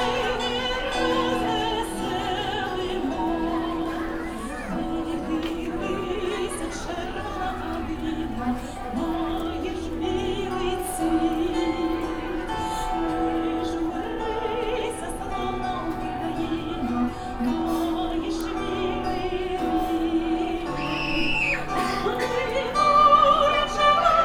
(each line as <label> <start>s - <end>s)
Ukrainian song 0.0s - 24.2s